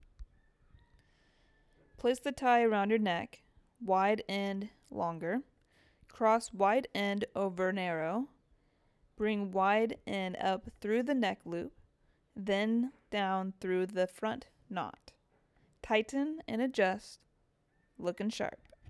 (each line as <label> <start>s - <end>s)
TutorialVoice 2.0s - 5.5s
TutorialVoice 6.2s - 8.3s
TutorialVoice 9.2s - 11.7s
TutorialVoice 12.4s - 15.1s
TutorialVoice 15.8s - 17.2s
TutorialVoice 18.0s - 18.7s